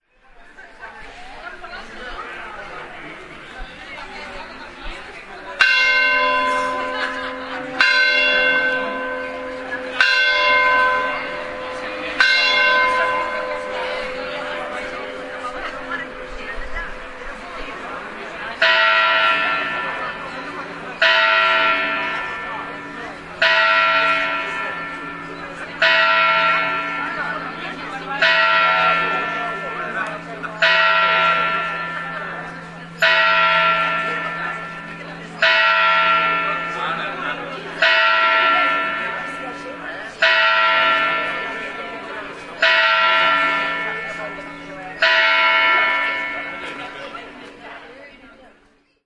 1.4s bells ringing 49.0s

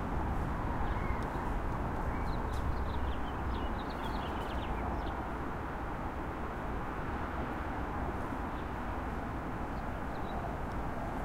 0.8s birds 5.2s

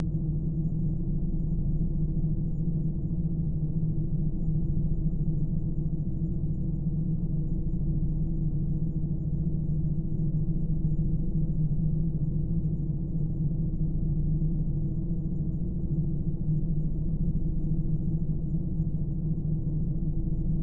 19.1s Spacecraft cabin ambient noise 20.6s

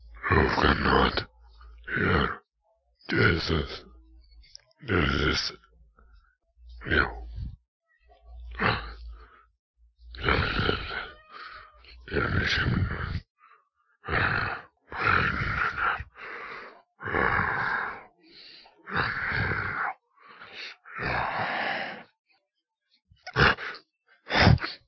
0.0s Monster Saying Gibberish Words 2.4s
3.1s Monster Saying Gibberish Words 3.9s
4.8s Monster Saying Gibberish Words 5.7s
6.8s Monster Saying Gibberish Words 7.6s
8.5s Monster Saying Gibberish Words 9.3s
10.1s Monster Saying Gibberish Words 13.2s
14.0s Monster Saying Gibberish Words 22.1s
23.3s Monster Saying Gibberish Words 24.8s

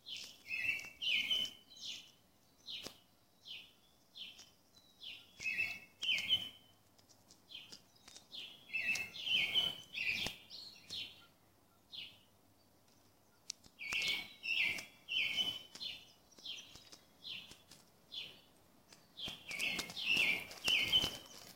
0.0s birdsong 21.5s

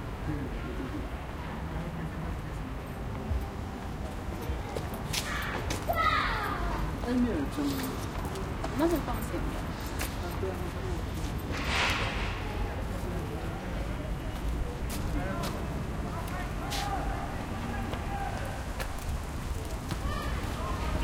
0.0s people activity 21.0s
11.5s gate close 12.8s

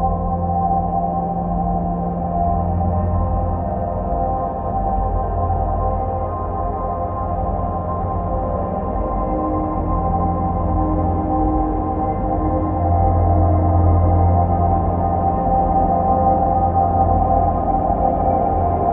0.0s slowly evolving dreamy ambient drone pad 18.9s

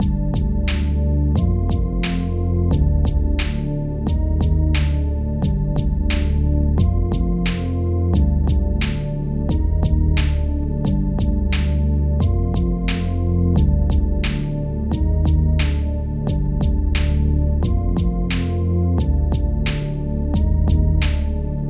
0.0s music 21.6s

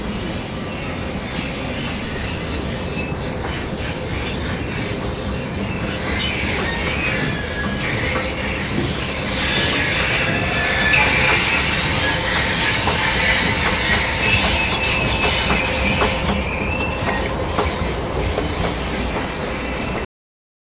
5.5s escalator squeek 20.0s

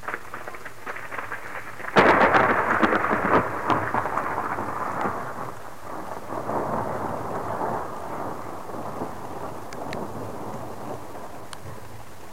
0.0s crackling thunder 12.3s

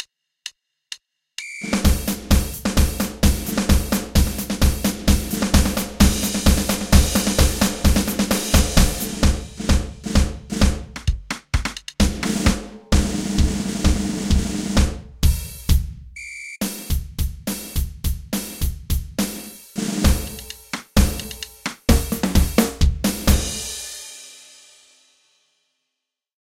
1.6s Military-style drum music 23.8s

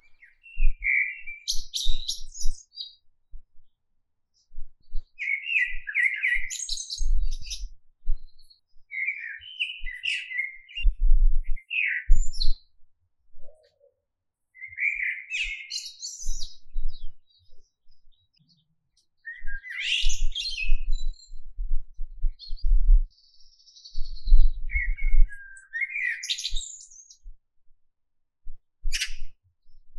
0.0s birdsong 12.8s
13.4s birdsong 27.3s
28.9s birdsong 29.4s

